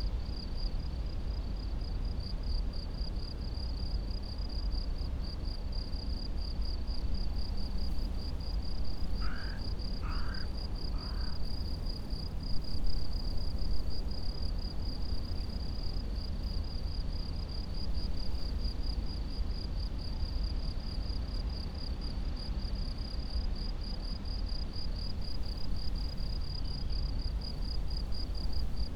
crickets 0.0 - 28.9
crows 9.2 - 11.5

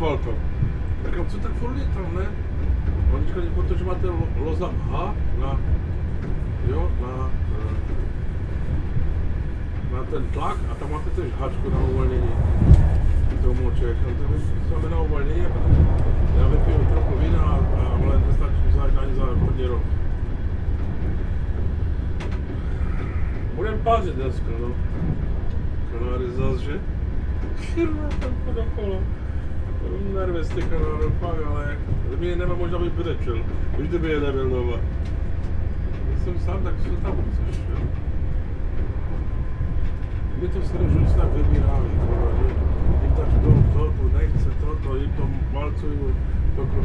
train 0.0 - 46.8

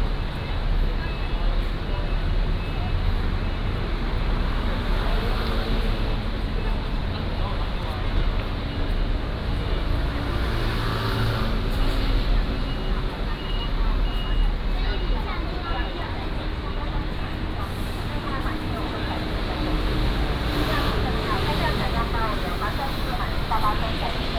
Walking on the road 0.0 - 24.3

